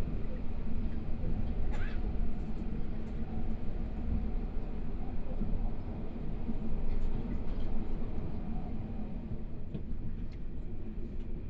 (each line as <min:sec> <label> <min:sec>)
0:00.0 Interior of the train 0:11.4